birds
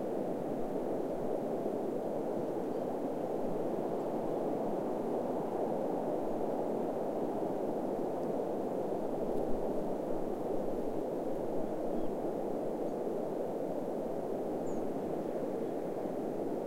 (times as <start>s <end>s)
14.6s 15.0s